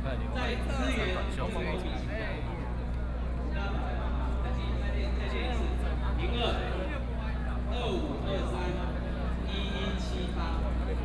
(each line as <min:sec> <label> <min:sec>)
0:00.0 People and students 0:11.0